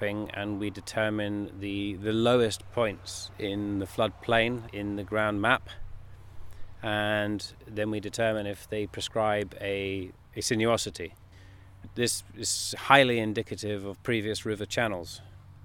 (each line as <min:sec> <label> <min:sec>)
0:00.0 Field interview with ecohydrologist 0:15.6